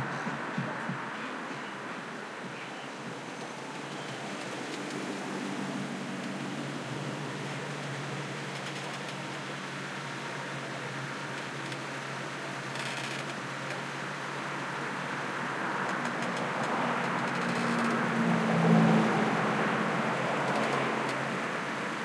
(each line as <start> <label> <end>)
0.0 stop and go traffic 22.0